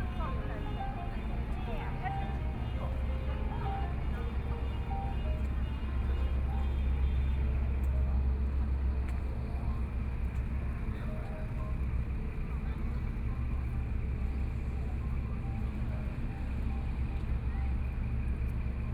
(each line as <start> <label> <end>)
0.0 Sound from Ferry 18.9
0.0 china Tourists 18.9